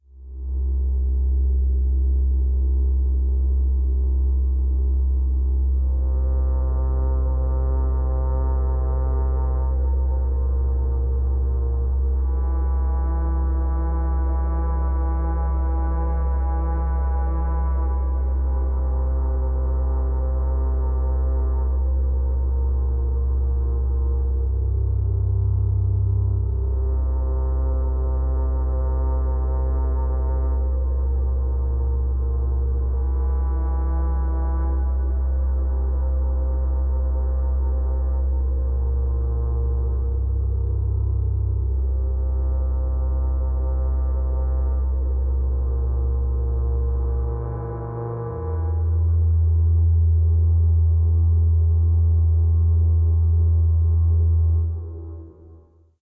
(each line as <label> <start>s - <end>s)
Drone 0.0s - 55.9s